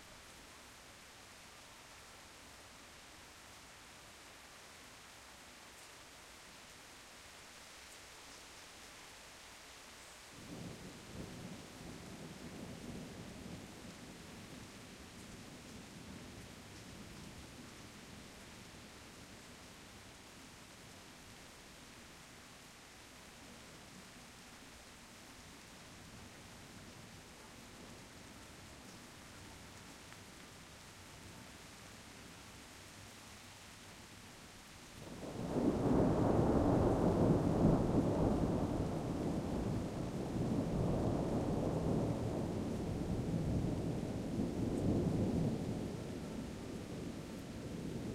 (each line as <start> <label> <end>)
0.0 rain 48.1
35.1 thunder 46.8